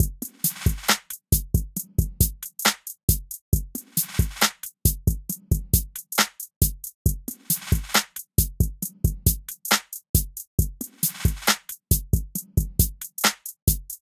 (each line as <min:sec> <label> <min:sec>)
0:00.4 Snare 0:01.2
0:02.6 Snare 0:03.0
0:03.9 Snare 0:04.7
0:06.2 Snare 0:06.5
0:07.4 Snare 0:08.2
0:09.7 Snare 0:10.0
0:11.0 Snare 0:11.8
0:13.2 Snare 0:13.6